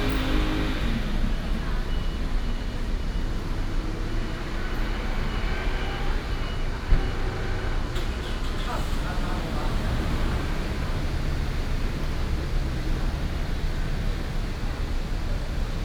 Building Construction 0.0 - 15.8
traffic sound 0.0 - 15.8
Primary school students 6.0 - 15.8

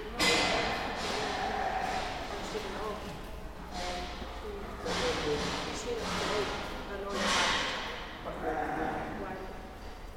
ram that was baaing 0.3 - 2.6
cow 0.4 - 2.6
cow 8.3 - 9.4

